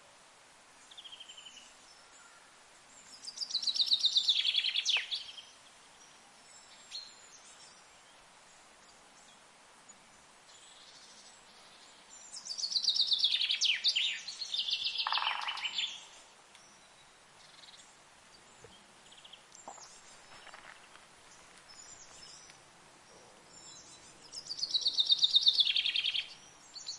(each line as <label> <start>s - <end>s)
chaffinch sings high in the tree 3.1s - 8.2s
chaffinch sings high in the tree 10.5s - 17.9s
chaffinch sings high in the tree 23.5s - 26.9s